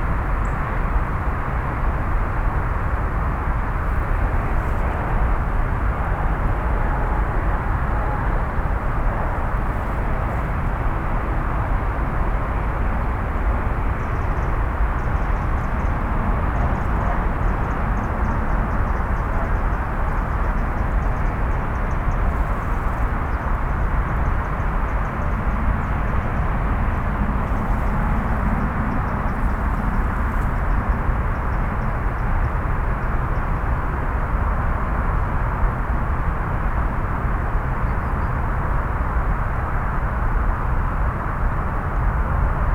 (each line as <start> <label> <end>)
1.8 car and cycle traffic 37.8